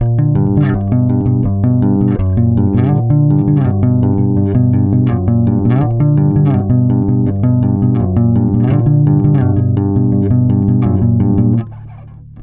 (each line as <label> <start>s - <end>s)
bass 0.0s - 12.4s